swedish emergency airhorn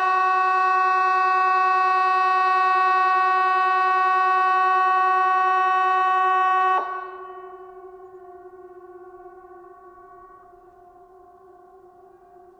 0.0 8.0

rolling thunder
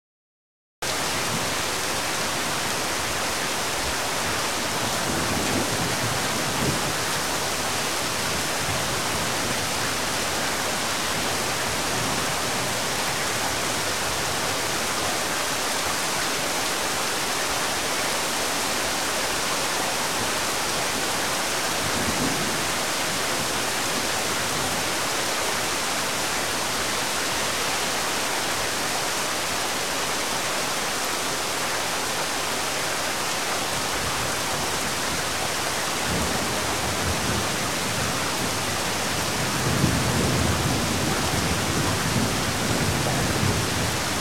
36.0 44.2

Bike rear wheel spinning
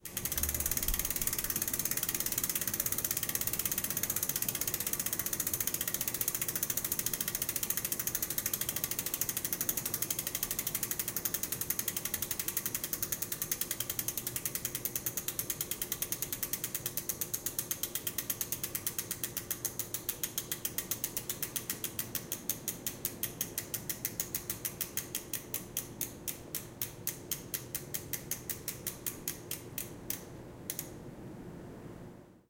0.0 25.6

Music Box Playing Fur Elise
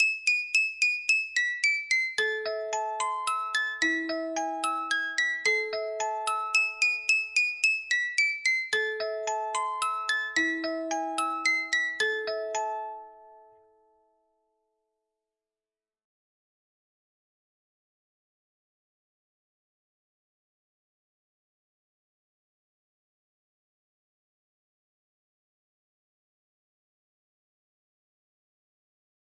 0.0 13.6

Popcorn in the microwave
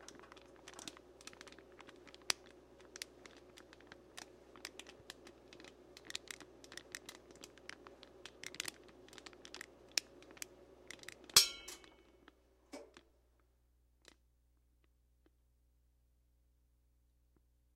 0.0 13.1

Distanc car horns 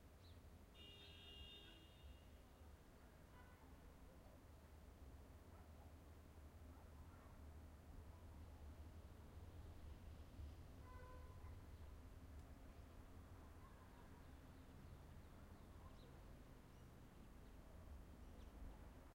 0.7 2.4, 10.8 11.5

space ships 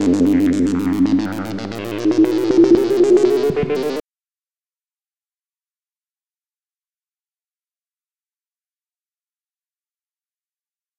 0.0 4.0

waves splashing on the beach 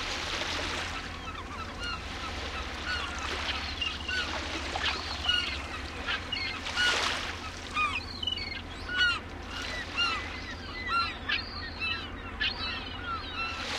0.0 8.0

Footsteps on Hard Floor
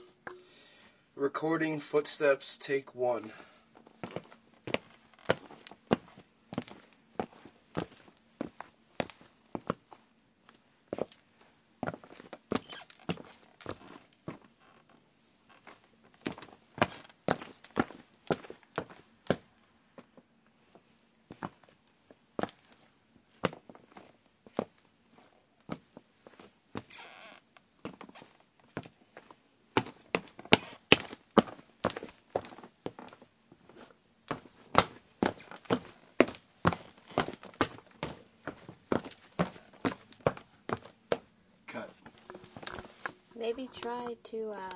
33.7 41.3, 42.0 44.7

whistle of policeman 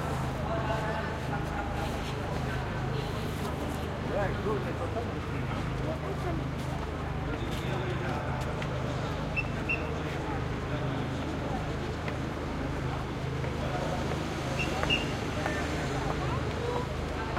9.4 9.9, 14.6 15.1

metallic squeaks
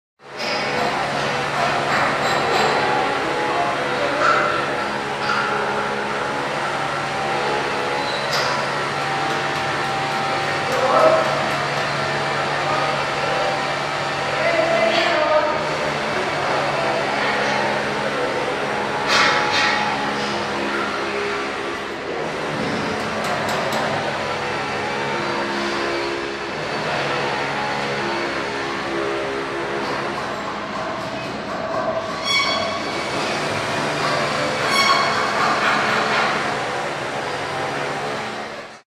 7.8 12.0, 32.0 33.4, 34.1 36.0

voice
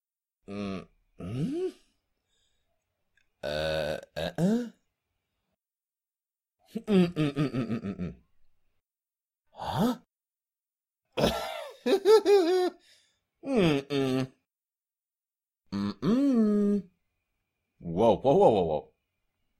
0.5 1.7, 15.8 16.9, 17.8 18.9

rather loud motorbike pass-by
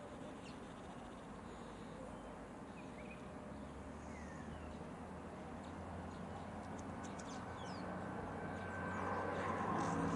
3.3 10.1

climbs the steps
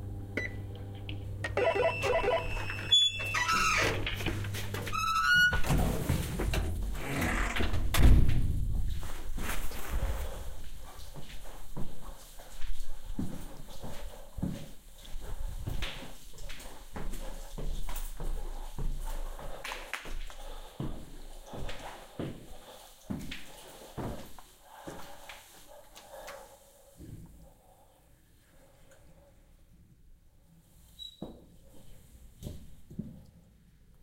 8.2 27.4

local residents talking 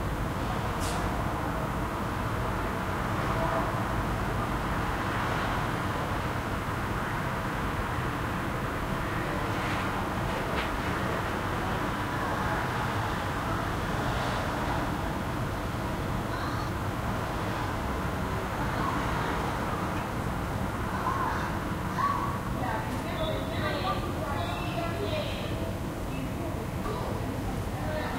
9.4 28.1

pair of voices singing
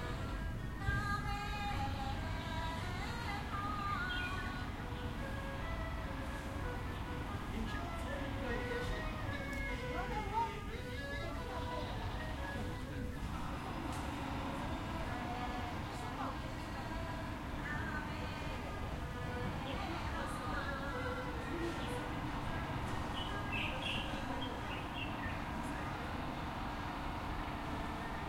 10.7 28.2

